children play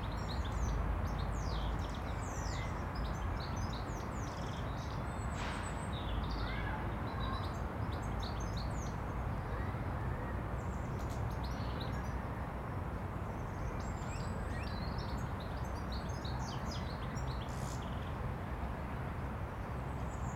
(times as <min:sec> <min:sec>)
0:06.3 0:07.6